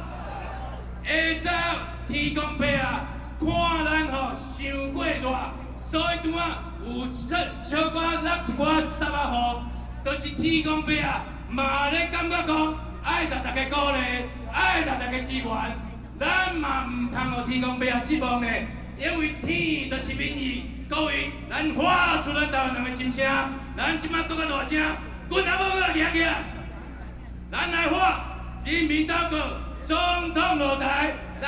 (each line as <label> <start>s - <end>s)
Shouting slogans 0.0s - 7.1s